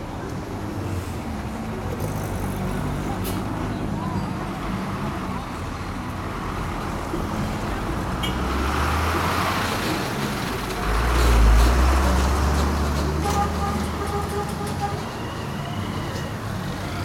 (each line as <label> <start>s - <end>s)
cars 0.0s - 17.0s
Speakers 1.7s - 6.1s